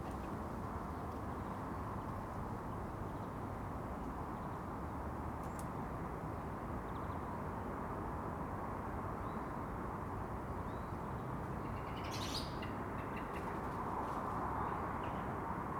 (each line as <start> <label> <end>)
0.0 wind 15.7